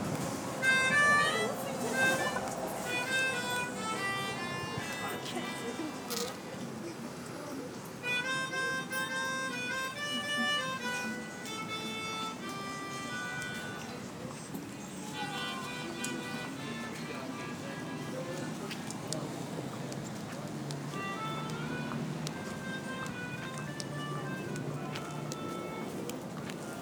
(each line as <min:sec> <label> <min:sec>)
0:00.0 harmonica 0:06.6
0:08.0 harmonica 0:19.3
0:20.9 harmonica 0:26.8